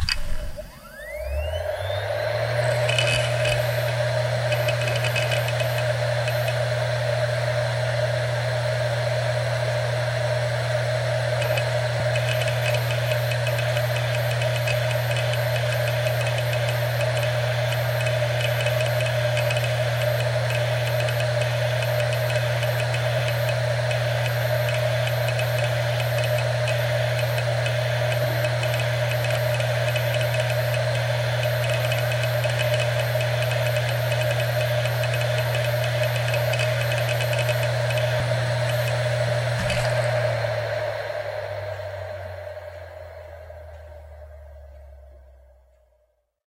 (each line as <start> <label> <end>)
0.0 hard drive 7.4
10.9 hard drive 45.4